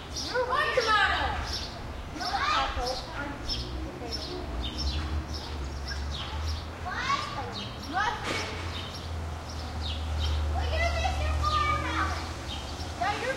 0.0s birds 13.3s
0.0s cars pass real bumpy 13.3s
0.3s kids play shout 1.5s
2.2s kids play shout 3.1s
6.3s kids play shout 8.6s
10.4s kids play shout 12.3s

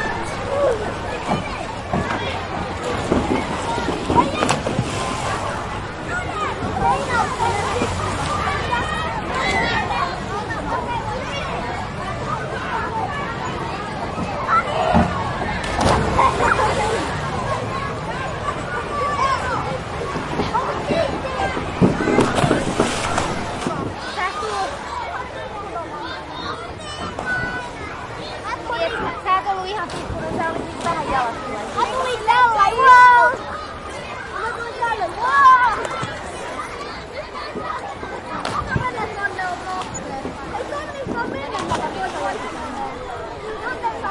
0.0s splashes 9.8s
0.0s jumping in the water 9.8s
0.0s children swimming and shouting 44.1s
14.3s jumping in the water 18.2s
14.9s splashes 18.1s
19.3s jumping in the water 24.9s
19.9s splashes 25.4s
35.4s splashes 44.1s
35.7s jumping in the water 44.0s

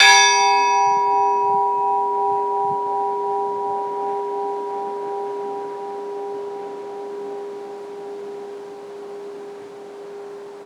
0.0s Orthodox bell 10.6s

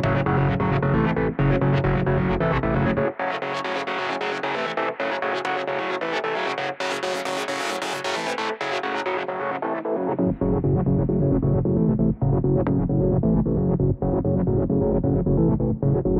0.0s bassline 5.2s
0.0s synthesizer 16.1s
10.0s bassline 16.1s

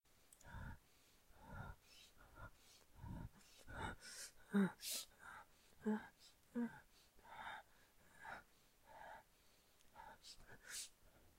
1.4s persona respirando de manera acelerada 8.4s

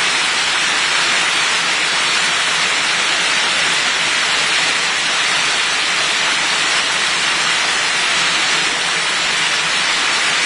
0.0s river 10.4s

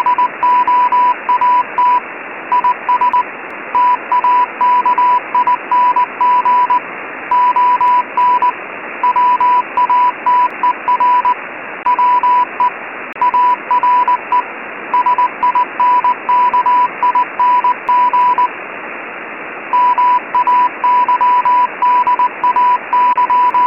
0.0s Morsecode radio transmission 23.6s
0.0s Static 23.6s

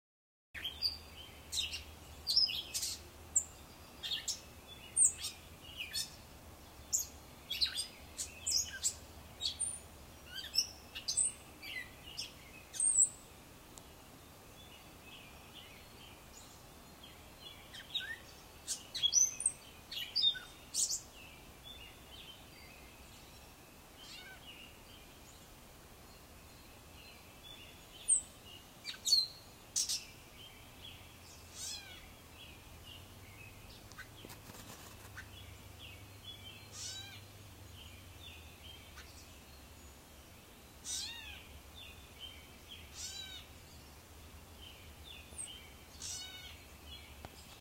0.6s Robins in background 47.6s
36.7s Wren 37.3s
40.8s Wren 41.5s
42.8s Wren 43.6s
45.9s Wren 46.7s

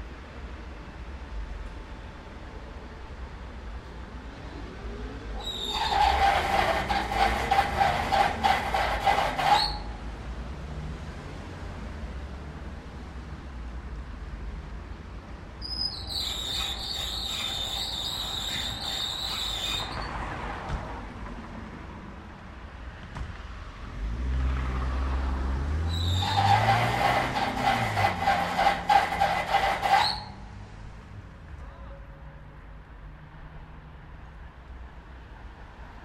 0.0s cars 36.0s

